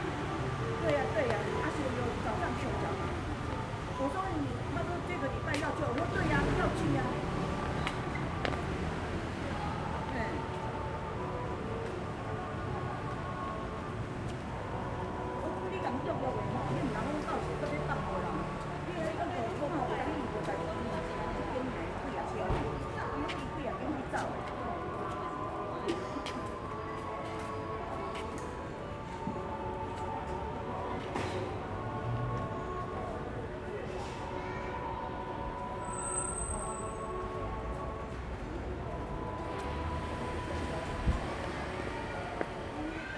0.0s Traffic noise 43.1s

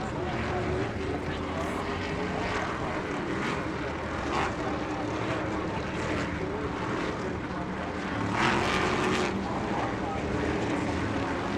0.0s Open Modified Heat Races 11.5s

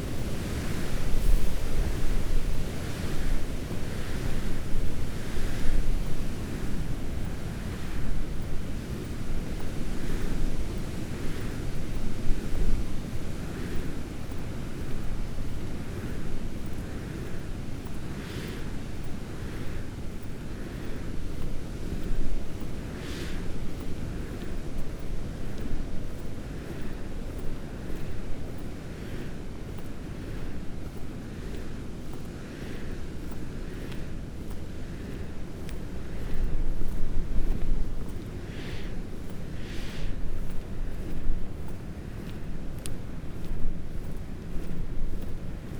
20.5s wind as it blasted through the hedgerows and trees 45.7s

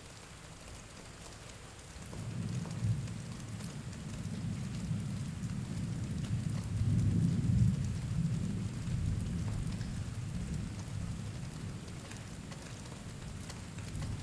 1.5s Storm from inside barn 14.2s

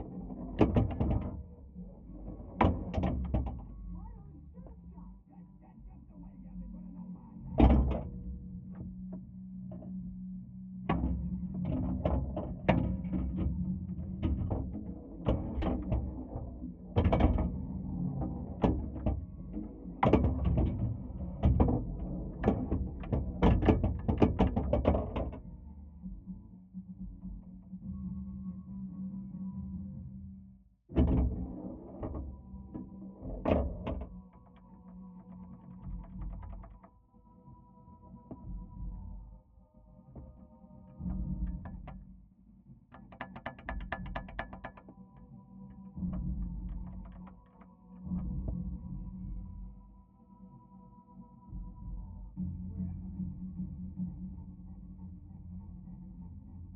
10.9s playing Pinball 25.4s
30.9s playing Pinball 36.9s
42.9s playing Pinball 45.2s

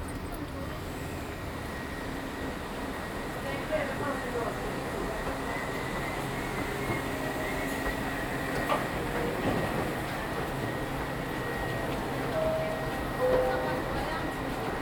0.0s exiting the 7 train 14.8s

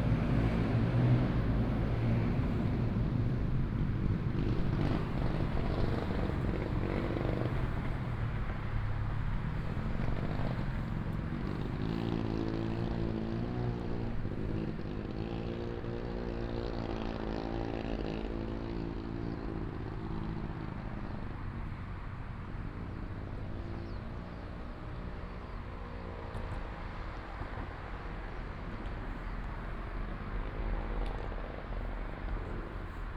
0.0s traffic sound 33.1s

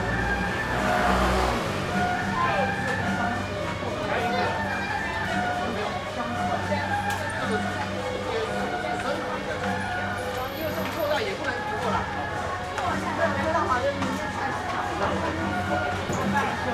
0.0s temple festivals 16.7s
0.0s traffic sound 16.7s

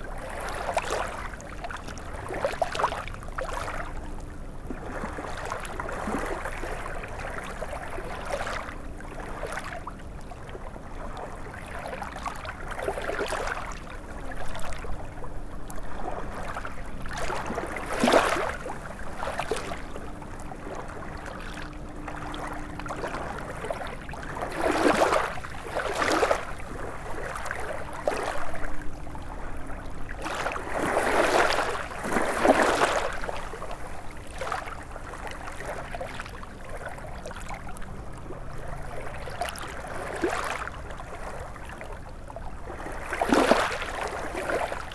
0.0s river 44.9s

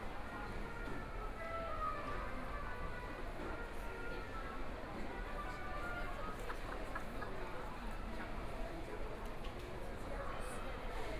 0.0s Walking around the shopping mall 7.1s

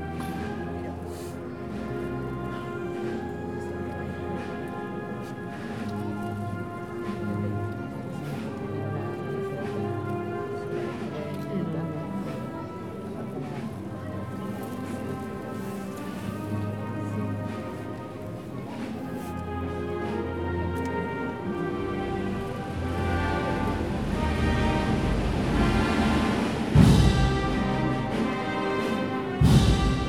19.3s band 30.0s

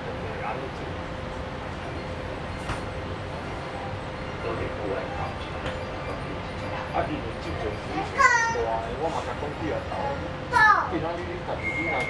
0.0s Inside the MRT 12.0s

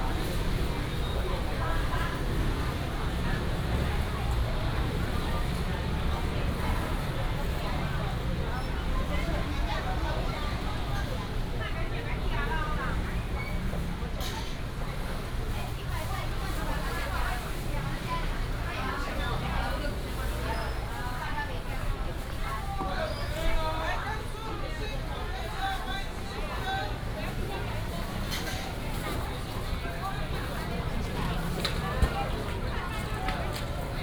0.0s Street vendors selling sounds 34.0s
25.0s Traffic sound 34.0s

